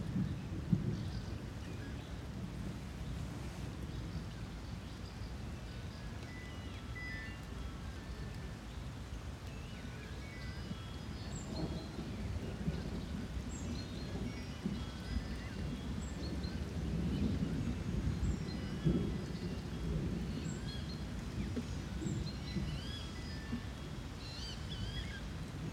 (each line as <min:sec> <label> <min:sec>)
0:00.0 light winds 0:25.7
0:00.0 raining lightly 0:25.7